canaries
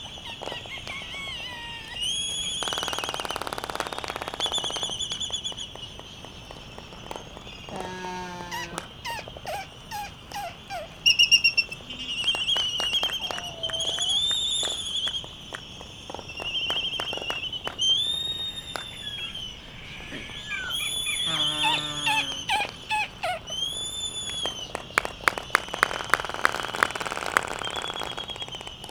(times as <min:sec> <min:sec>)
0:00.0 0:03.4, 0:04.1 0:15.2, 0:16.6 0:24.8